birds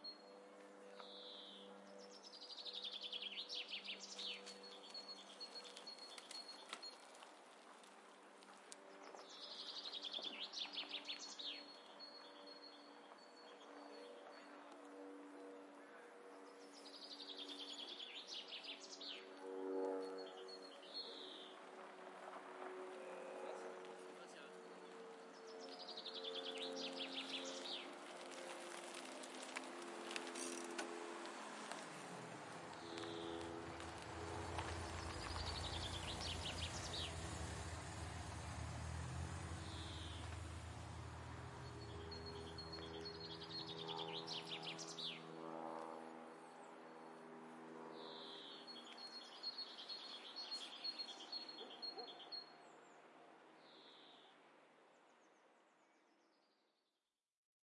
32.6s 38.6s

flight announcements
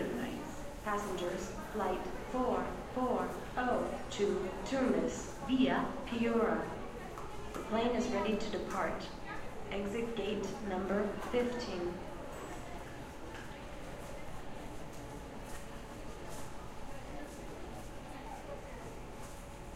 0.0s 7.0s, 7.6s 12.2s

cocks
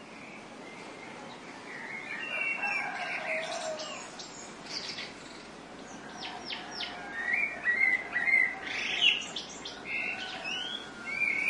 2.0s 4.2s

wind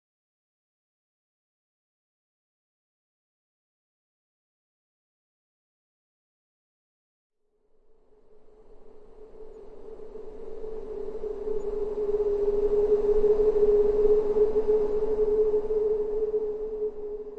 7.4s 17.3s

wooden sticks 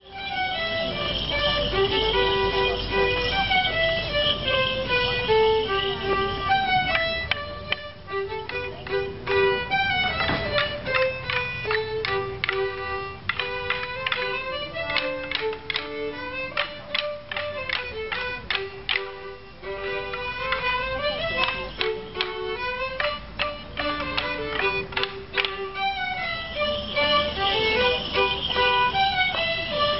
6.9s 29.9s

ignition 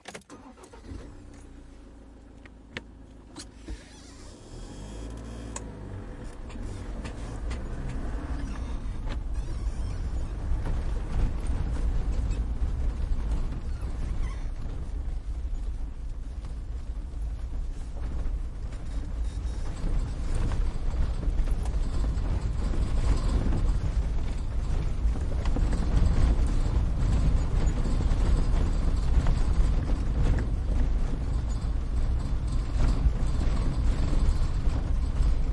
0.0s 27.8s

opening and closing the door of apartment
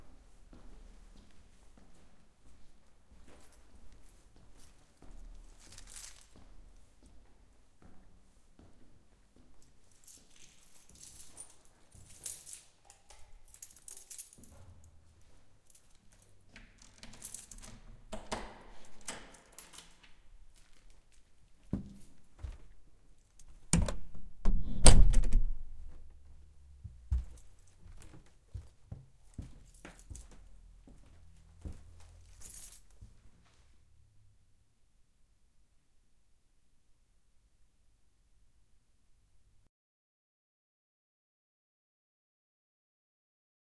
16.3s 21.0s, 23.4s 26.2s

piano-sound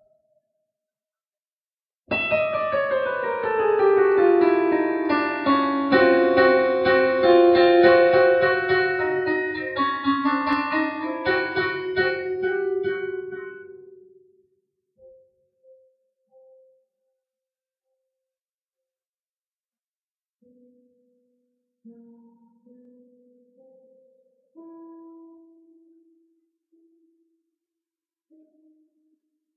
2.1s 14.4s, 20.4s 26.1s

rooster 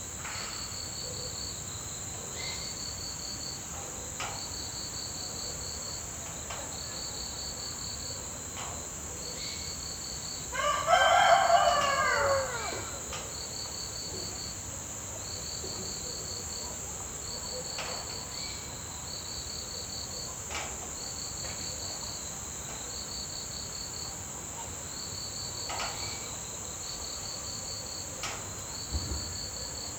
10.5s 13.2s

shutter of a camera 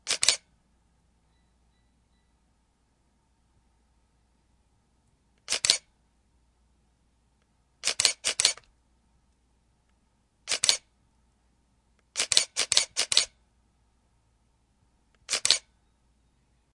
0.0s 0.5s, 5.4s 5.9s, 7.8s 8.7s, 10.5s 10.9s, 12.1s 13.4s, 15.2s 15.7s

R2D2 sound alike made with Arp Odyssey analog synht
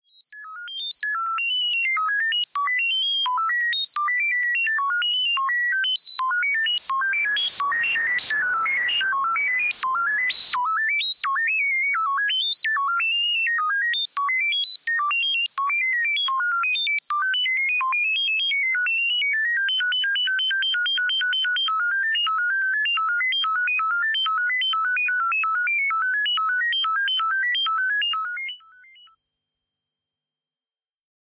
6.6s 11.0s

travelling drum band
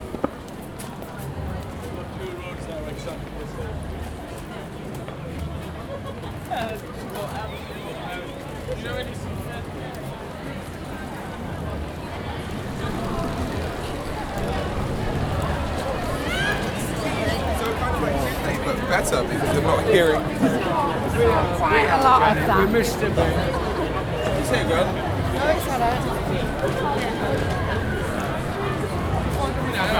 11.1s 29.9s

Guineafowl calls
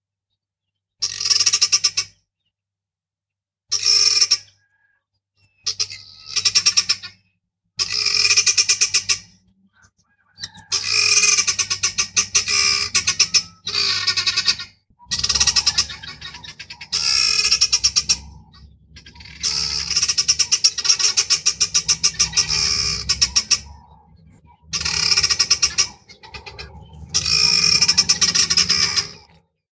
5.7s 29.4s

